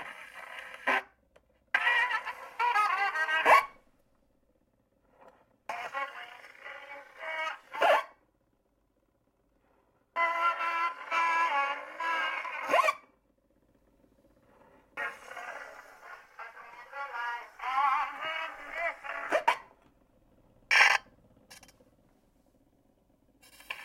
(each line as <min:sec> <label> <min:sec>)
0:00.0 various scratches on a 78 record 0:01.1
0:00.0 motor noise 0:23.8
0:01.8 various scratches on a 78 record 0:03.8
0:05.7 various scratches on a 78 record 0:08.1
0:10.2 various scratches on a 78 record 0:13.0
0:14.4 surface static 0:19.6
0:15.0 various scratches on a 78 record 0:19.7
0:20.7 various scratches on a 78 record 0:21.0
0:23.4 various scratches on a 78 record 0:23.8